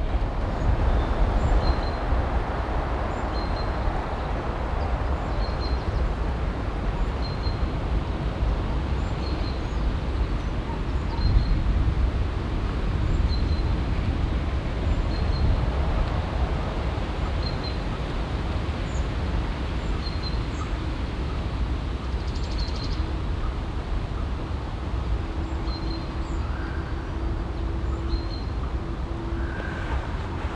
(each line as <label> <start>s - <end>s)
wind in grosser tanne 26.1s - 30.5s